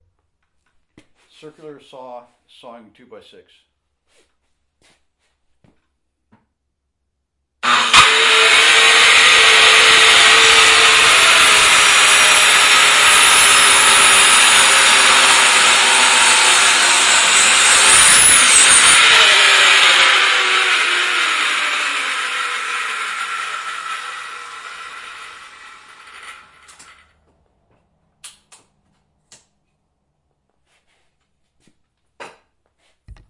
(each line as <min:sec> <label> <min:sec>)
0:07.6 Circular saw sawing a 2x6 0:27.2